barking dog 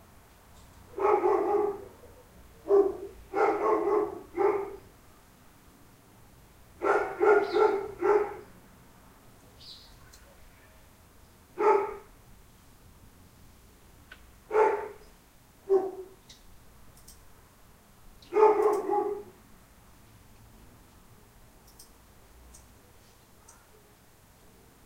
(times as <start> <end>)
0.9 4.9, 6.8 8.5, 11.6 12.1, 14.5 15.0, 15.6 16.2, 18.3 19.4